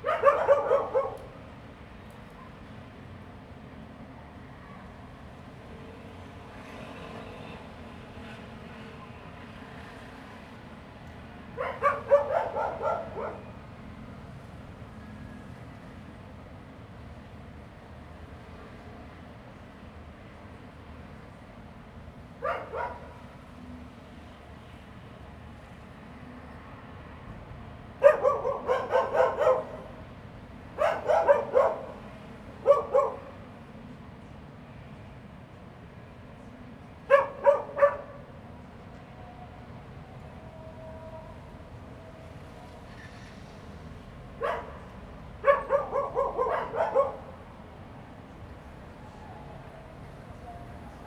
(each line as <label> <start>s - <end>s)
Dogs barking 0.0s - 1.3s
Dogs barking 11.6s - 13.6s
Dogs barking 22.4s - 23.2s
Dogs barking 28.0s - 29.9s
Dogs barking 30.8s - 32.0s
Dogs barking 32.6s - 33.4s
Dogs barking 37.1s - 38.2s
Dogs barking 44.4s - 44.8s
Dogs barking 45.4s - 47.4s